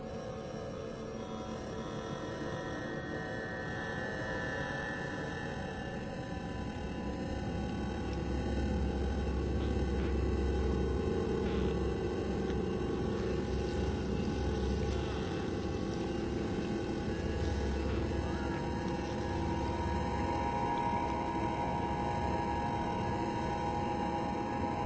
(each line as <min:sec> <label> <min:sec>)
0:06.6 rhythmic creaks 0:24.8
0:06.7 subdued metallic resonance 0:24.8